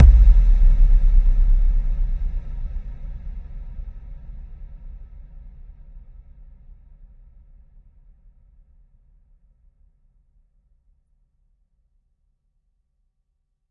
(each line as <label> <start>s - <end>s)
huge rolling deep bassdrum 0.0s - 3.8s